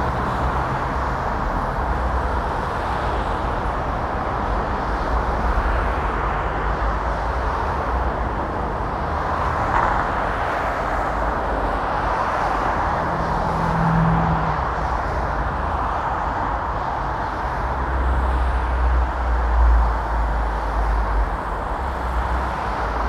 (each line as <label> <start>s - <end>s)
motorway traffic 0.0s - 23.0s